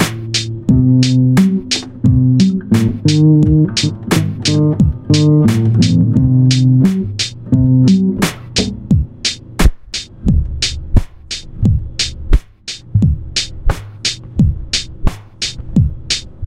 0.0s guitar player 9.2s

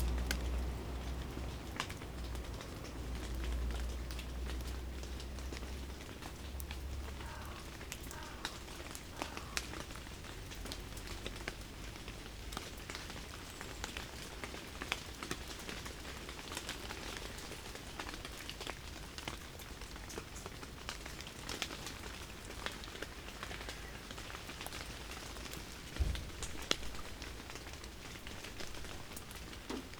0.0s Slight rain 29.9s
0.0s bus park near the town hall and leave its engine on 29.9s

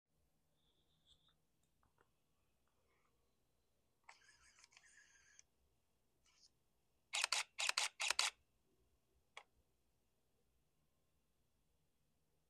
7.1s camera takes three camera shots 8.4s

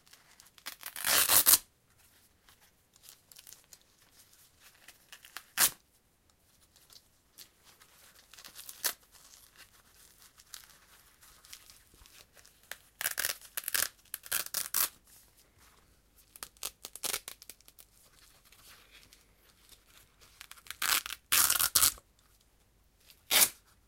0.6s velcro Fastener 1.6s
13.0s velcro Fastener 14.9s
20.4s velcro Fastener 22.0s
23.3s velcro Fastener 23.6s

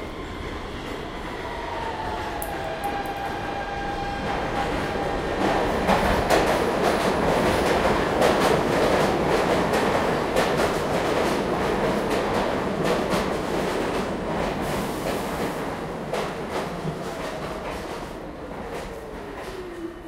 0.0s train approach 20.0s

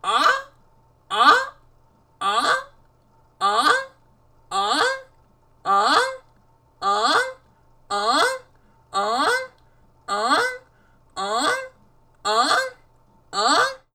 0.0s canada goose honking 0.5s
1.1s canada goose honking 1.6s
2.2s canada goose honking 2.7s
3.4s canada goose honking 3.9s
4.5s canada goose honking 5.0s
5.7s canada goose honking 6.2s
6.8s canada goose honking 10.6s
11.2s canada goose honking 11.7s
12.3s canada goose honking 12.8s
13.4s canada goose honking 13.9s

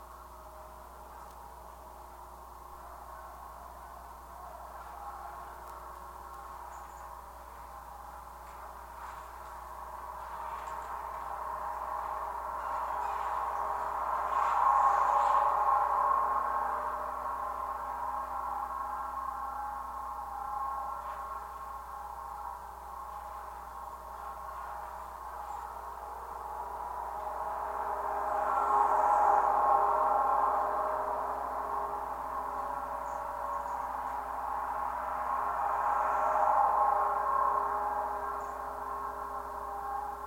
0.0s Traffic noise 40.2s
0.0s wind 40.2s

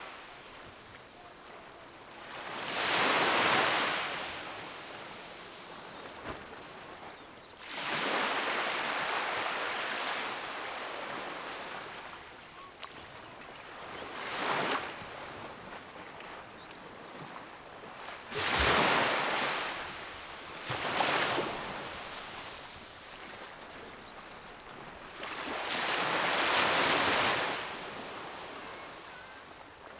0.0s waves 29.9s

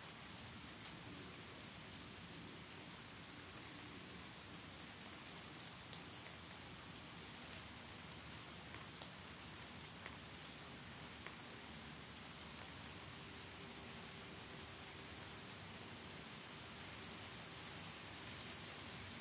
0.0s rain 19.2s

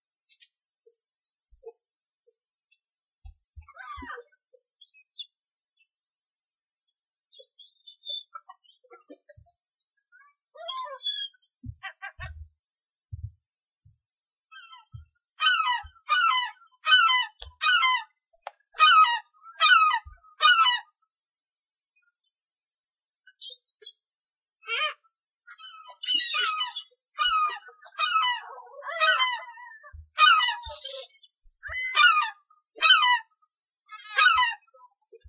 3.6s Seagulls 4.4s
10.6s Seagulls 12.5s
14.6s Seagulls 18.1s
18.8s Seagulls 20.9s
24.7s Seagulls 33.3s
33.9s Seagulls 35.2s

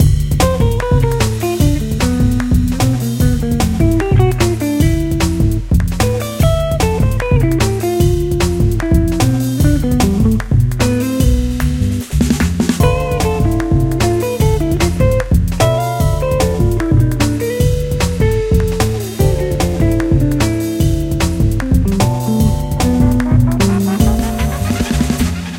0.0s jazz 25.5s

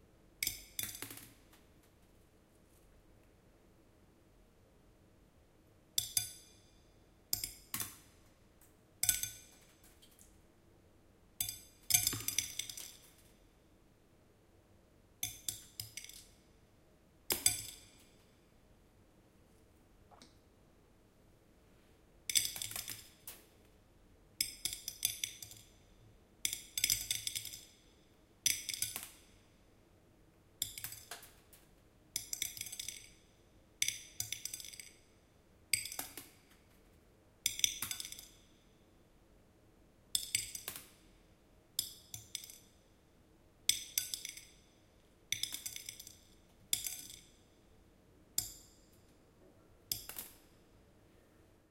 11.4s Dropping rice grain slowly on the plate 13.6s
43.7s Dropping rice grain slowly on the plate 47.6s

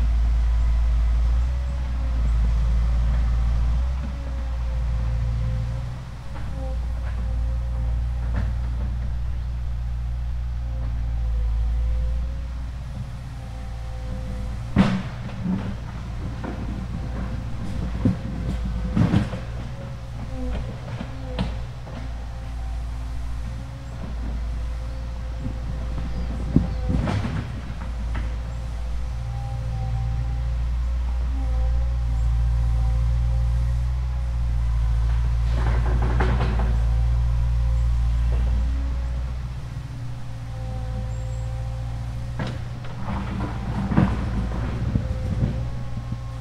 0.0s excavator digging in the ground 46.4s

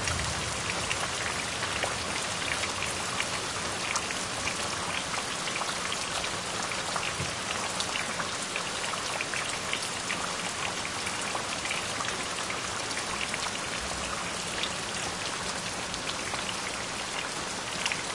0.0s Hard Rain 18.1s

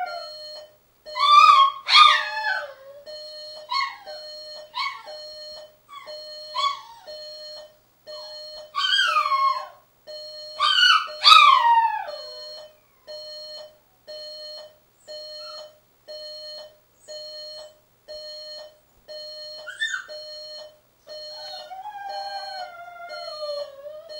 0.0s alarm clock 24.1s
1.2s howls 3.1s
8.2s howls 9.8s
10.6s howls 13.1s
21.3s howls 24.1s

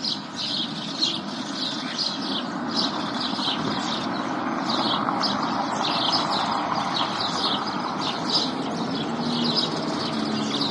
0.0s House sparrow 10.7s
0.0s birds chirping 10.7s
3.1s car passing 10.7s

